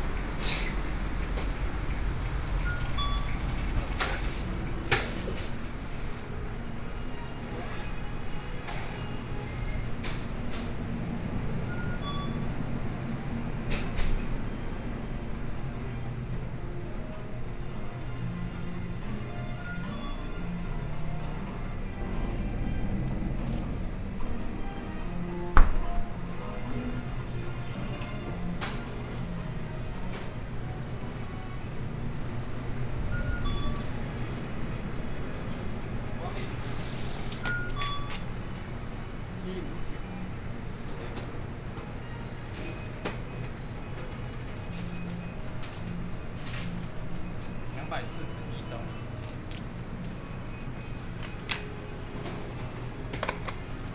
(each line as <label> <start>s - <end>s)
Checkout 0.0s - 53.9s
Traffic Noise 0.0s - 53.9s
walking in the Street 0.0s - 53.9s